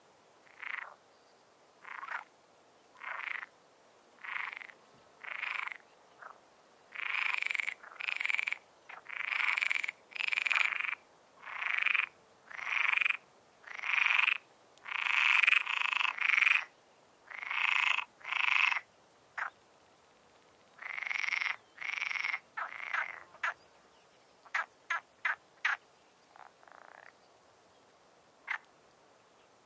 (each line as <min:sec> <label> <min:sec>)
0:00.4 frogs croaking 0:01.0
0:01.8 frogs croaking 0:02.3
0:02.9 frogs croaking 0:03.5
0:04.2 frogs croaking 0:19.6
0:20.8 frogs croaking 0:23.6
0:24.4 frogs croaking 0:27.3
0:28.4 frogs croaking 0:28.7